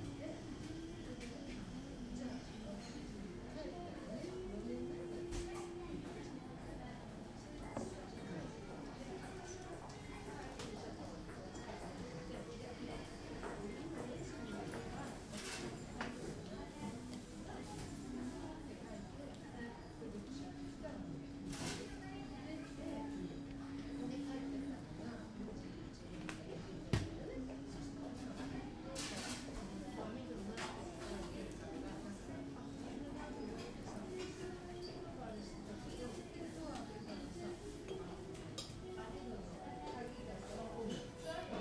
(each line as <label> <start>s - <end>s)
Espresso drinks are being made 32.9s - 39.0s